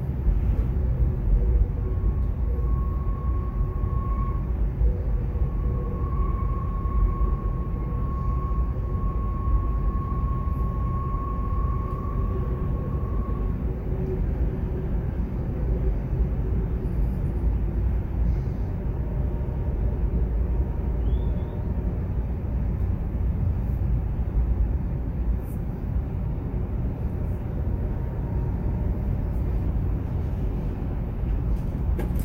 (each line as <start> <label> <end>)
0.0 train 32.2